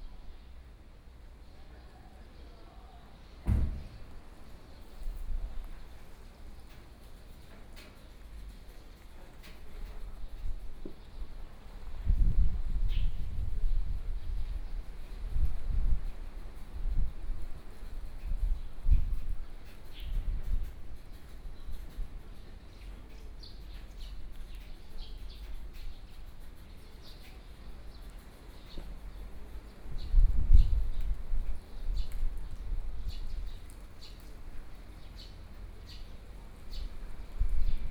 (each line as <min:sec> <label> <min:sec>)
0:18.2 Birdsong 0:37.9